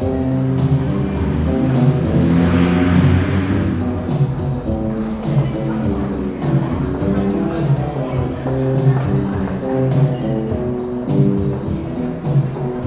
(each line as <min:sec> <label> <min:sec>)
0:00.0 drum machine 0:12.8
0:00.0 playing songs from Soviet films on his bass 0:12.8